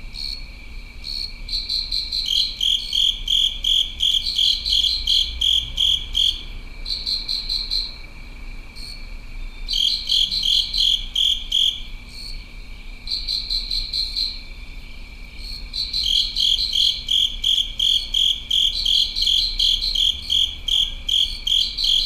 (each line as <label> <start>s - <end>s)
crickets within a covered drain 0.0s - 22.0s